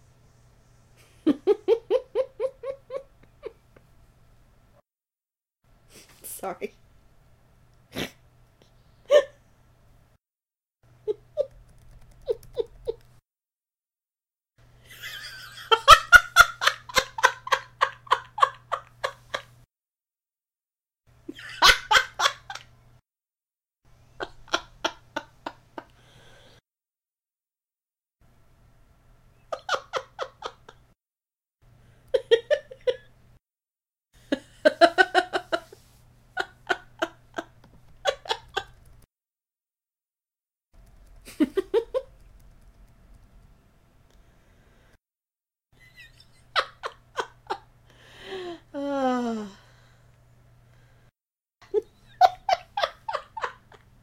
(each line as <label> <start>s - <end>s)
woman laughing in various ways 1.0s - 3.6s
woman laughing in various ways 9.1s - 9.4s
woman laughing in various ways 11.0s - 11.6s
woman laughing in various ways 12.2s - 13.1s
woman laughing in various ways 14.8s - 19.6s
woman laughing in various ways 21.3s - 22.7s
woman laughing in various ways 24.2s - 26.0s
woman laughing in various ways 29.5s - 31.0s
woman laughing in various ways 32.1s - 33.1s
woman laughing in various ways 34.2s - 38.8s
woman laughing in various ways 41.2s - 42.2s
woman laughing in various ways 45.8s - 49.6s
woman laughing in various ways 51.6s - 54.0s